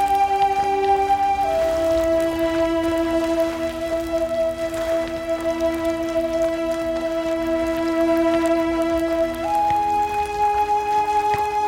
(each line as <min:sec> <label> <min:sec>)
0:00.0 Native-American Flute 0:11.6